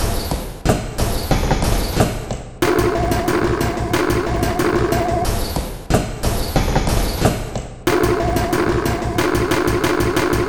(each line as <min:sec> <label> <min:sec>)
0:02.6 Drum Loop 0:05.4
0:07.9 Drum Loop 0:10.4